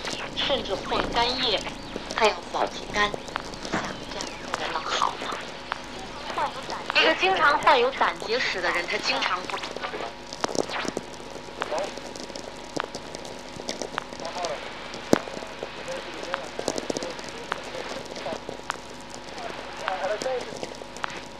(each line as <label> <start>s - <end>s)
Very low frequency mix with sw radio 0.0s - 21.3s